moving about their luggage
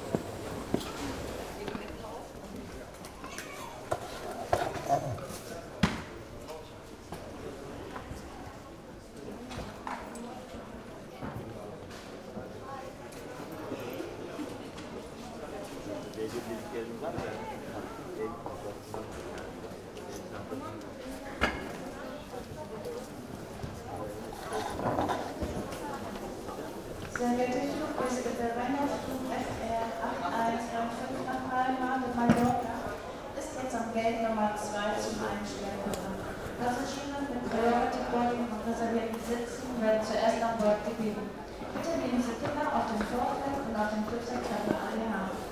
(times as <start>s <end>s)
0.0s 3.2s